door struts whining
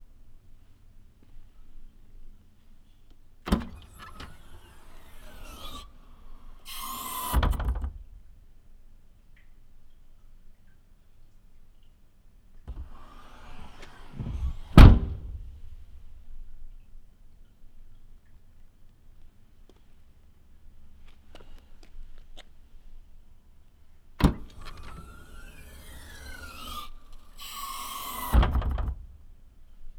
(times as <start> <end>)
3.5 8.0, 12.7 15.9, 24.2 29.2